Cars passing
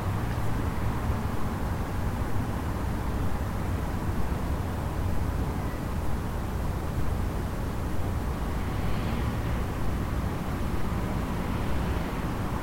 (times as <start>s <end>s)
8.2s 12.6s